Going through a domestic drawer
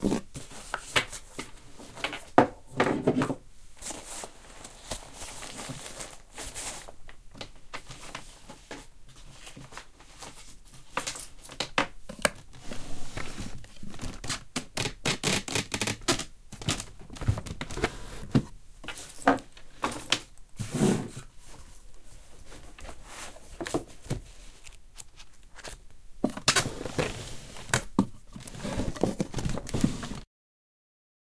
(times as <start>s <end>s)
22.4s 30.2s